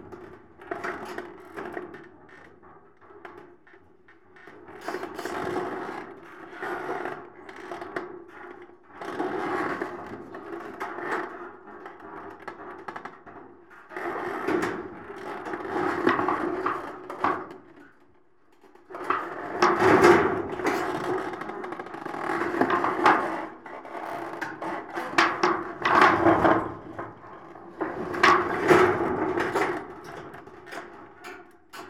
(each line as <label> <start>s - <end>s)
metal palisade moving by the action of the wind 24.2s - 31.2s